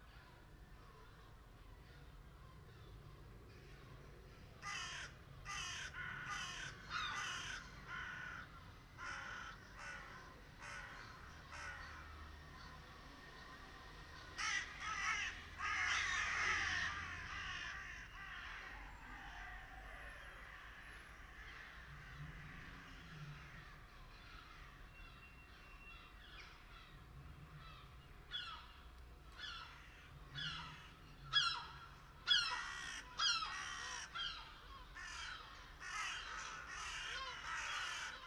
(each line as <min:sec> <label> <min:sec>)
0:04.6 Crows 0:12.8
0:14.1 Crows 0:38.2
0:29.4 Seagulls 0:38.2